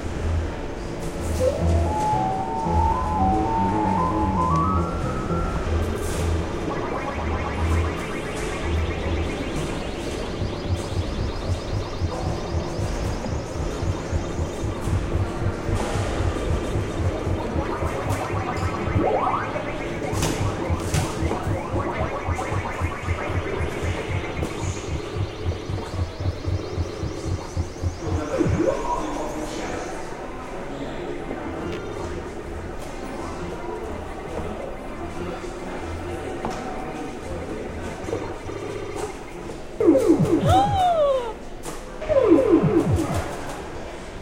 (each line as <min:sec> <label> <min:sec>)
0:01.4 Playing Ms. Pacman 0:28.8
0:39.8 Playing Ms. Pacman 0:41.4
0:42.1 Playing Ms. Pacman 0:43.4